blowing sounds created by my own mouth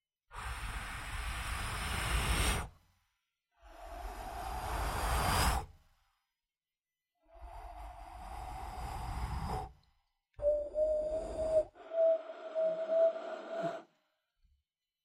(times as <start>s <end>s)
10.4s 13.9s